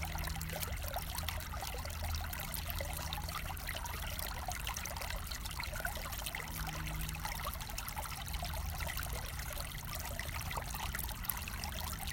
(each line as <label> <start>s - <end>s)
Small river 0.0s - 12.1s